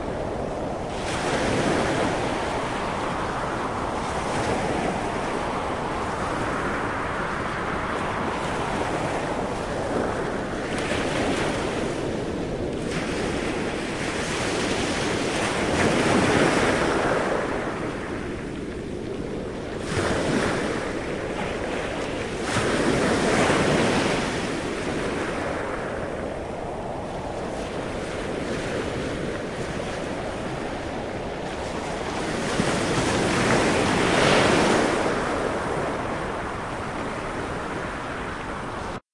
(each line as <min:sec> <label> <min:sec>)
0:00.0 howling wind 0:39.0
0:00.0 waves crashing on beach 0:39.0